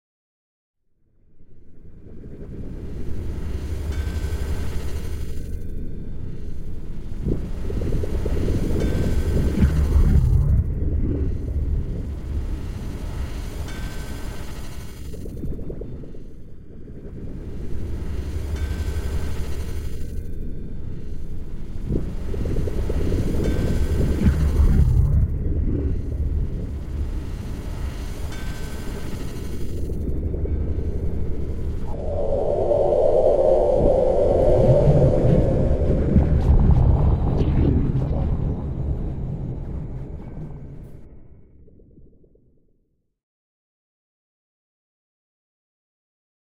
frequency-modulated sinewaves 1.4 - 42.1

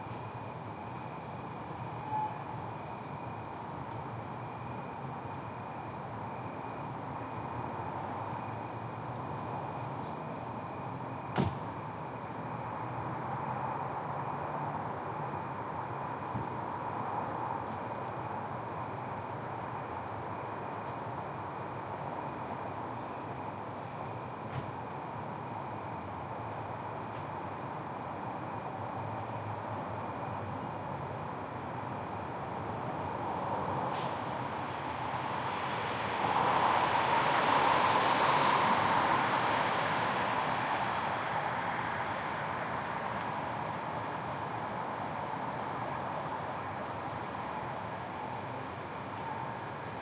Crickets 0.0 - 50.0
cars 31.7 - 50.0

